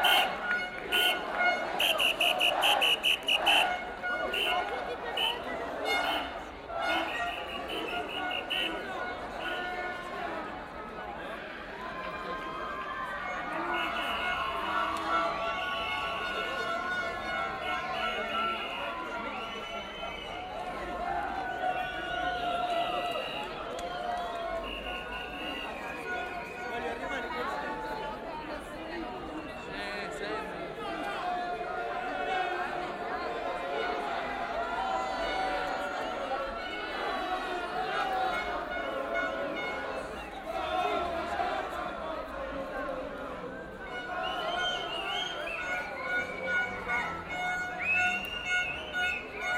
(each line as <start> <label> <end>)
0.0 shouting 10.3
0.0 Signalhorns 10.5
13.3 Signalhorns 23.6
24.5 Signalhorns 27.3
30.7 singing 49.5
33.5 Signalhorns 49.5